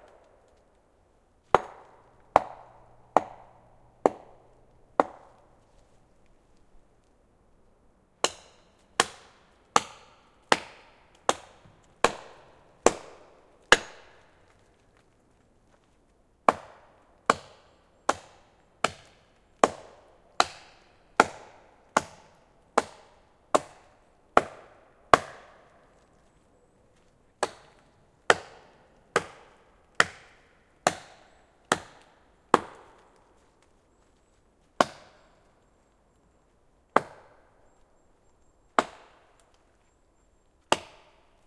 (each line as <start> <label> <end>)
1.5 axe chopping 5.6
8.2 axe chopping 14.4
16.5 axe chopping 25.7
27.4 axe chopping 33.0
34.8 axe chopping 35.3
37.0 axe chopping 37.4
38.8 axe chopping 39.2
40.7 axe chopping 41.3